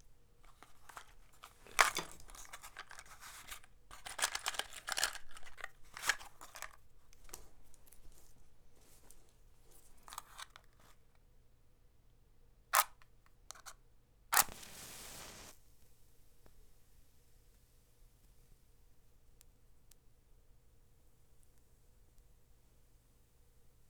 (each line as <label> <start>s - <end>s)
matchstick 14.4s - 15.6s